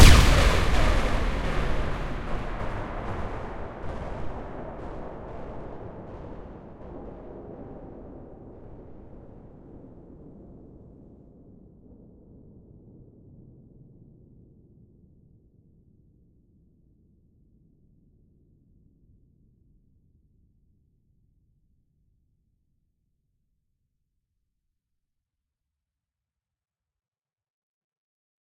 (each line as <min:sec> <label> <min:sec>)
0:00.0 reverberant tail 0:06.7
0:00.0 synthetic explosion sound 0:09.3